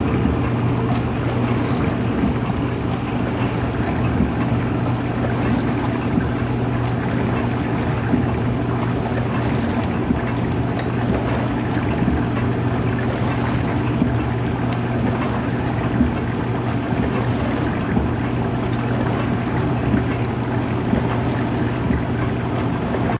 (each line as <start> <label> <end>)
0.0 Washing Machine 23.1